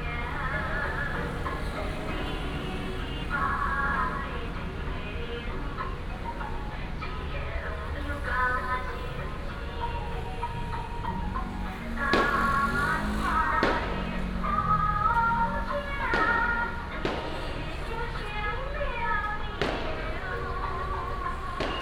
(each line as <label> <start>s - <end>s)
Traffic sound 0.0s - 21.8s
Firecrackers 12.1s - 12.9s
Firecrackers 13.6s - 14.0s
Firecrackers 16.1s - 17.6s
Firecrackers 19.6s - 20.4s
Firecrackers 21.6s - 21.8s
fireworks 21.6s - 21.8s